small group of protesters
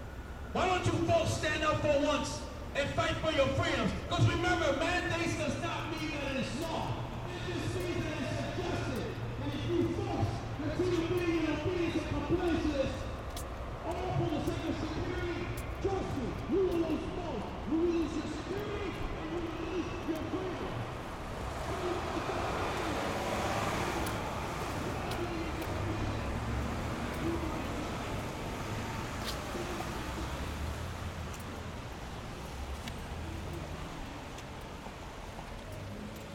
0:12.0 0:36.1

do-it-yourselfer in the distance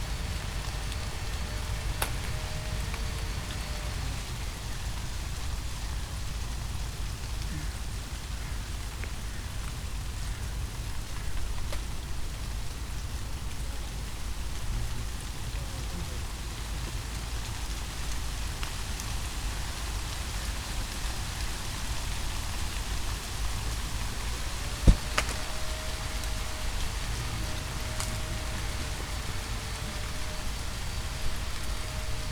0:00.0 0:06.1, 0:22.3 0:32.3

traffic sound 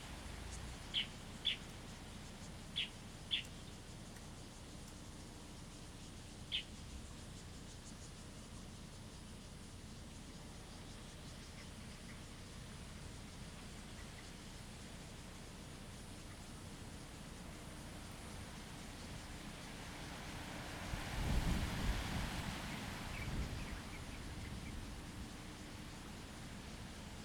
0:16.8 0:27.2

